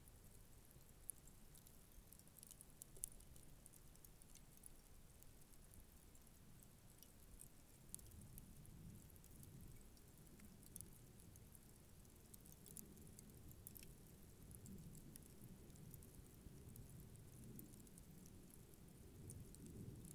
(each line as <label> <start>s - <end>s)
wind 0.0s - 20.1s